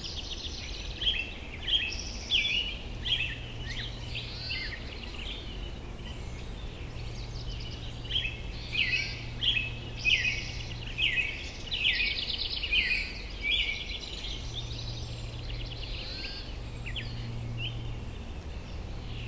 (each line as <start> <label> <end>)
0.0 Bewick's Wren sing 19.2
0.0 Black-headed Grosbeak 19.2
0.0 Evening wind rustles oak leaves 19.2